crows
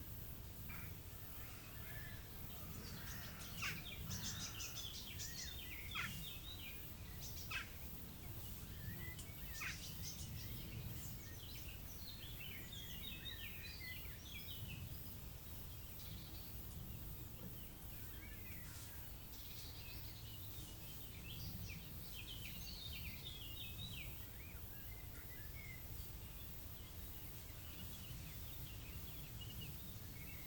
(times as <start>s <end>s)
0.7s 4.9s